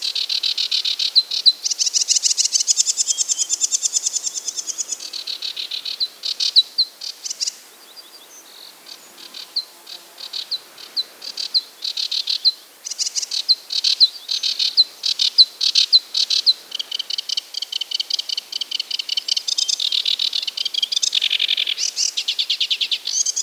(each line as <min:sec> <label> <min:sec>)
0:00.0 Birds 0:23.4